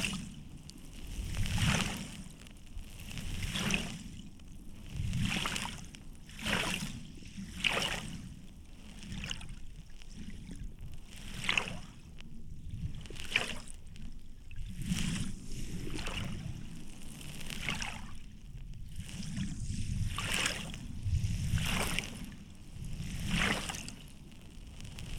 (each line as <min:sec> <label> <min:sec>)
0:13.8 windy day 0:25.1